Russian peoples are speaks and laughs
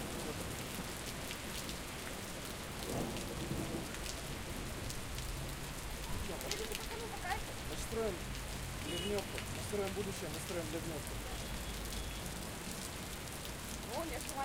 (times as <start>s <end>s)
6.3s 7.5s